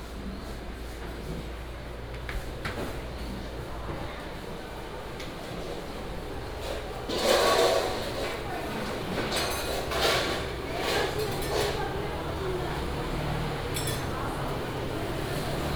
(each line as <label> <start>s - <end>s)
vendors peddling 6.5s - 15.7s